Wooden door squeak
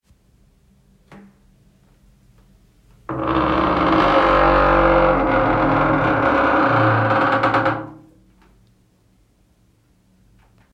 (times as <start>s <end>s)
3.1s 8.1s